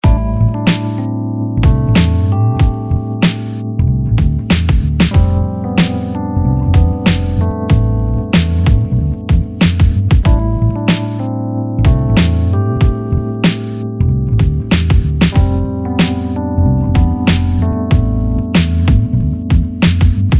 0.0s rhodes 20.3s
1.6s drum 3.4s
4.2s drum 6.0s
6.8s drum 11.0s
11.9s drum 13.6s
14.4s drum 16.2s
17.0s drum 20.3s

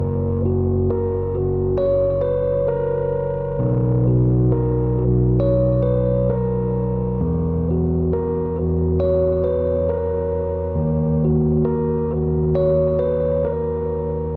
0.0s rhodes 14.3s

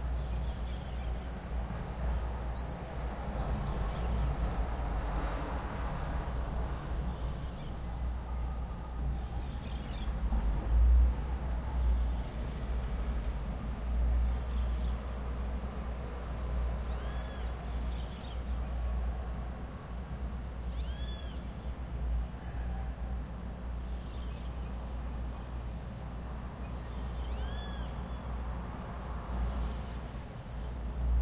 0.2s birdsong 1.3s
2.1s birdsong 5.4s
9.1s birdsong 10.6s
16.8s birdsong 18.8s
19.9s birdsong 28.4s

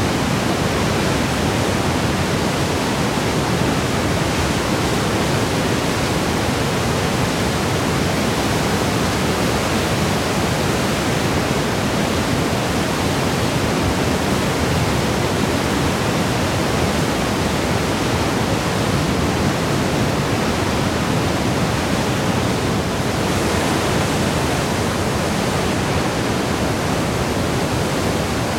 0.0s WATERFALL 28.5s

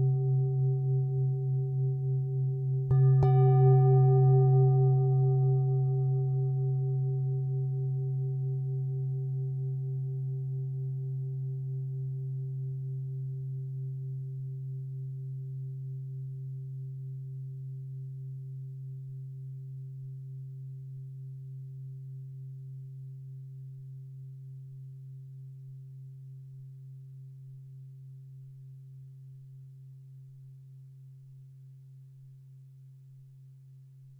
0.0s antique singing bowl 18.4s

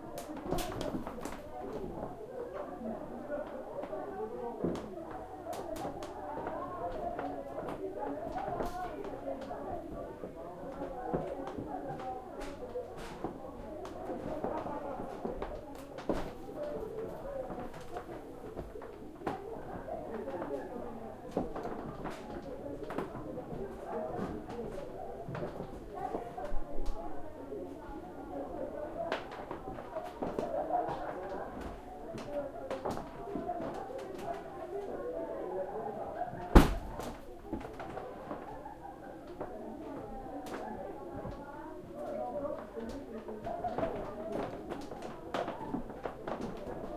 0.0s crowd lively voices 46.9s
10.2s creaky footsteps wood floor 27.0s
39.3s creaky footsteps wood floor 46.9s

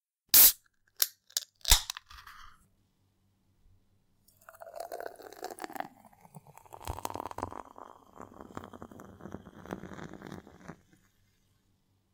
0.3s beer can open 2.5s
4.3s poured into a glass 11.0s

